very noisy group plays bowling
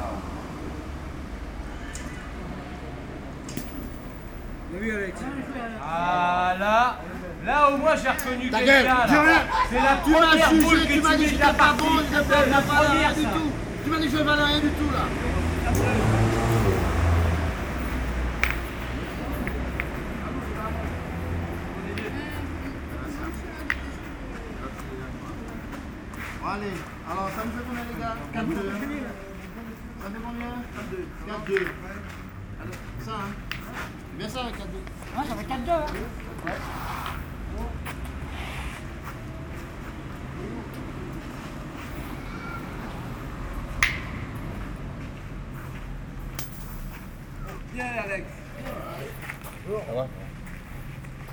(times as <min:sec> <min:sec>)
0:17.3 0:27.7